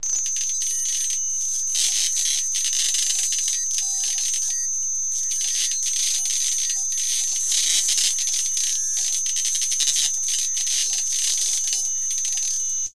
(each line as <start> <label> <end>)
0.0 glitch 12.6